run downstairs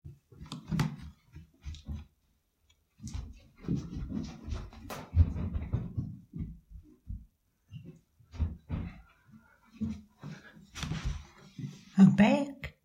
3.0s 11.9s

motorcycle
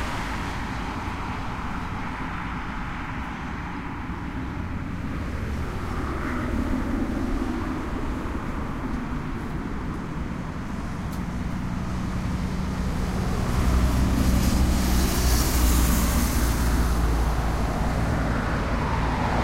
11.2s 19.4s

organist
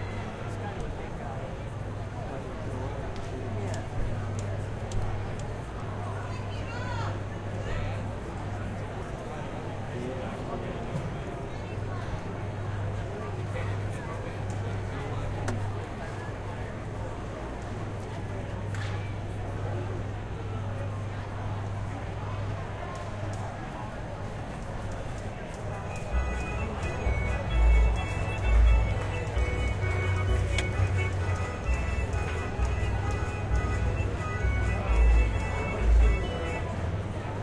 25.8s 37.3s

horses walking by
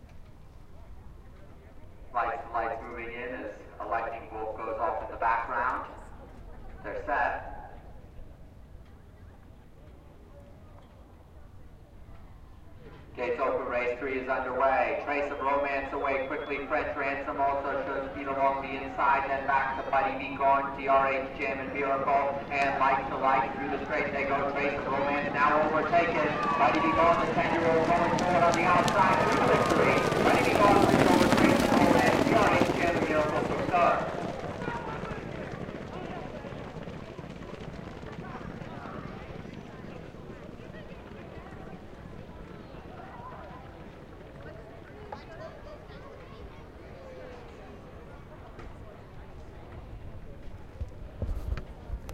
12.0s 52.1s

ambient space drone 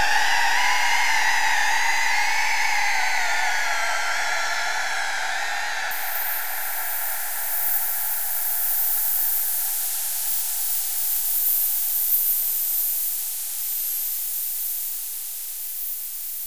5.9s 16.4s

